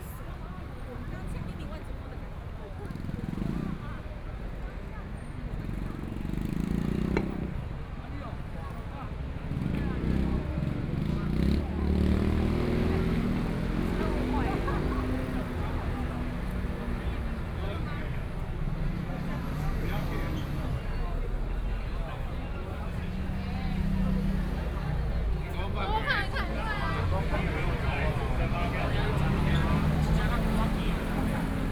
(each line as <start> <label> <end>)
9.4 Traffic Sound 31.7
11.4 Walking through the site in protest 31.7